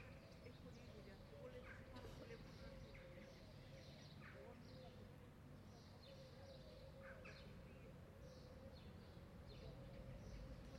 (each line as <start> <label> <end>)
0.1 light traffic 10.7